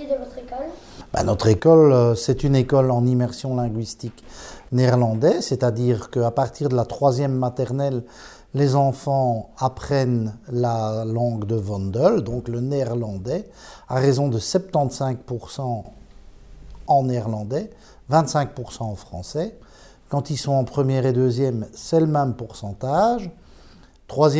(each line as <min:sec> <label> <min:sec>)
0:00.0 Children ask questions to their school director 0:01.0